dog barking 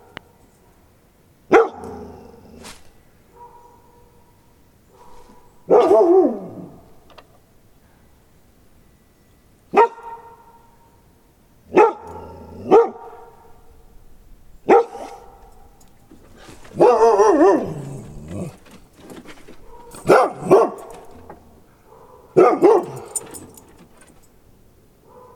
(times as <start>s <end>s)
1.5s 2.4s, 3.3s 4.3s, 4.9s 6.9s, 9.7s 11.0s, 11.7s 13.7s, 14.7s 15.8s, 16.6s 18.6s, 19.6s 23.3s, 25.0s 25.3s